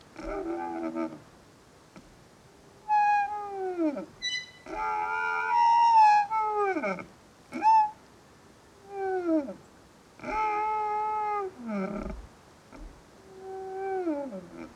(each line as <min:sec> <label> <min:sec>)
0:00.0 singing tree in a wind 0:14.7